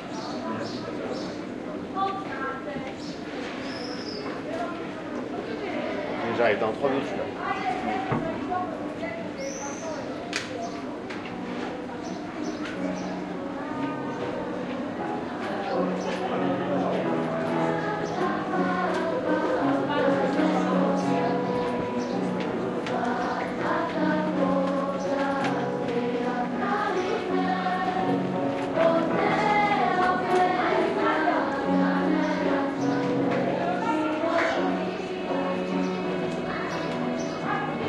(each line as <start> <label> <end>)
12.2 Singing audible through the window 37.8